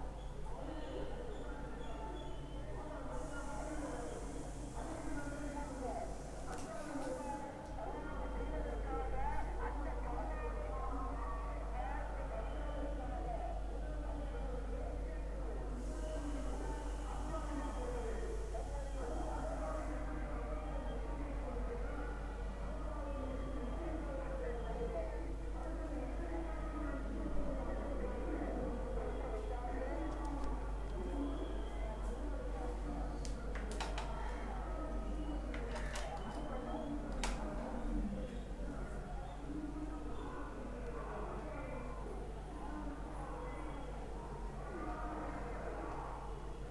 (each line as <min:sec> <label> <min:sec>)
0:00.0 speeches 0:46.7